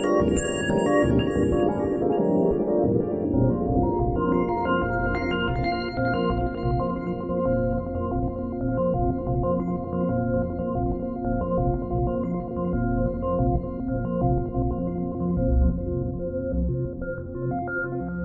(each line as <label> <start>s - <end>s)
synth 0.0s - 5.6s